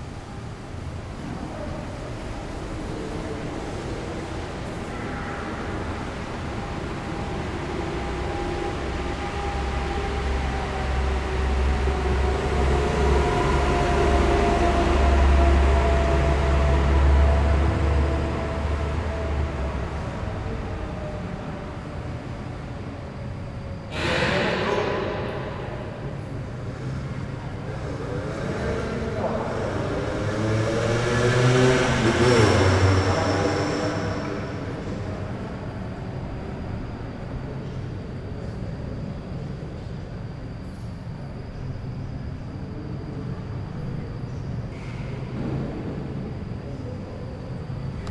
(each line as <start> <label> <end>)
0.0 bus 48.1
27.9 moto 35.1